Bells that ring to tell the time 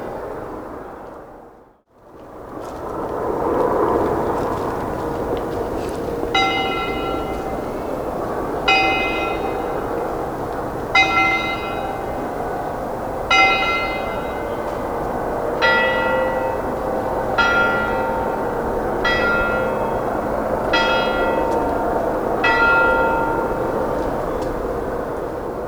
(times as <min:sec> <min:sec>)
0:06.4 0:08.1